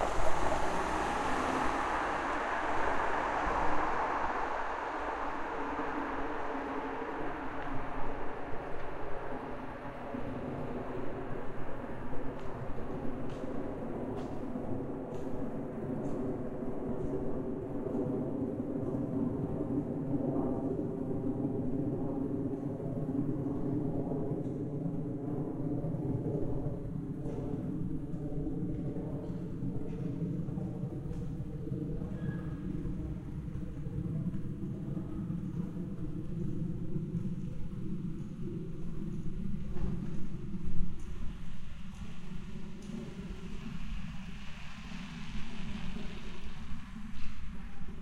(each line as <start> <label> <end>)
0.0 Airplane 48.0